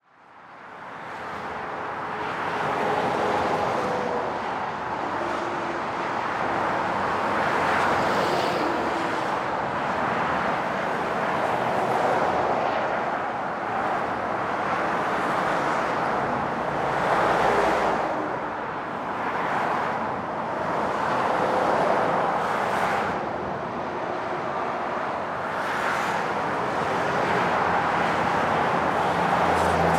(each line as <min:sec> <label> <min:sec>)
0:00.0 traffic 0:29.9
0:00.7 trucks 0:29.9